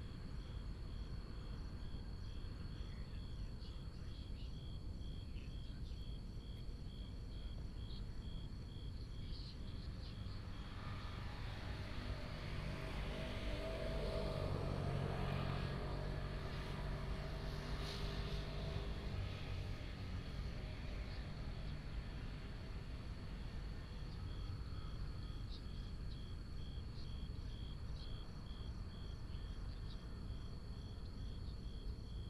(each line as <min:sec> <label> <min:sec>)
0:10.7 Traffic sound 0:25.2